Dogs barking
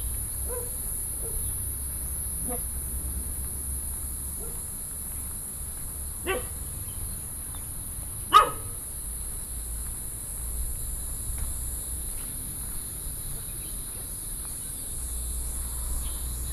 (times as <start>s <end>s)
0.5s 1.5s, 4.4s 4.6s, 6.2s 6.6s, 8.3s 8.9s